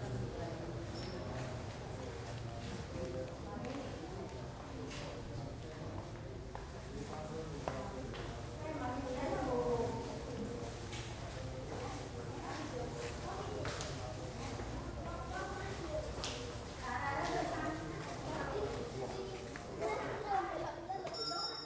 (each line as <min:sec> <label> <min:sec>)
0:21.1 bells 0:21.6